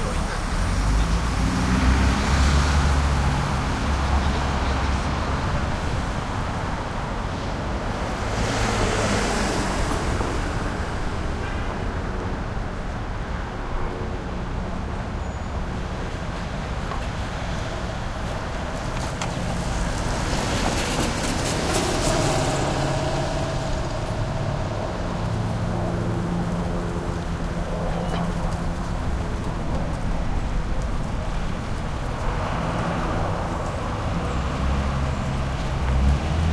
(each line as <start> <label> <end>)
0.0 traffic medium busy street 36.5
15.3 heavy trucks 36.5